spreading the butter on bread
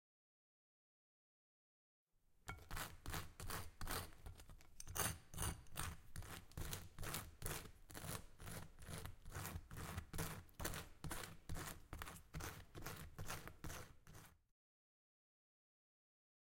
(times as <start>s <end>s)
2.5s 14.4s